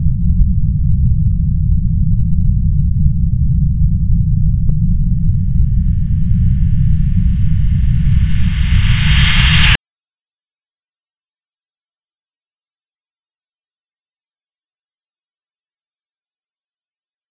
0.0s Low rumble 9.8s
5.5s reverse scream 9.8s

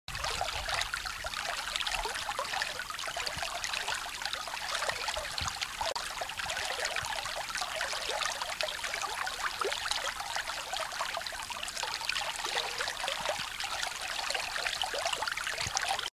0.1s Water babbling in a small creek 16.1s

